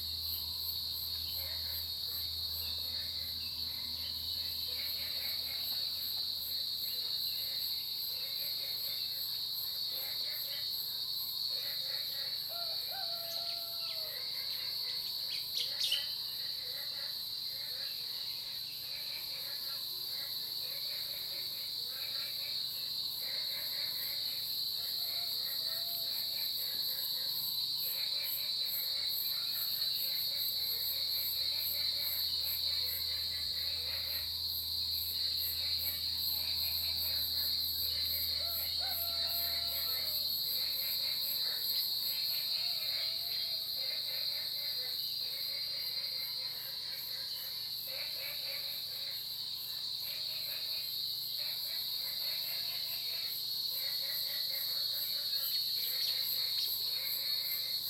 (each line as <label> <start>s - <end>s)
Frogs chirping 0.0s - 26.5s
Cicada sounds 0.0s - 57.8s
Frogs chirping 27.1s - 57.8s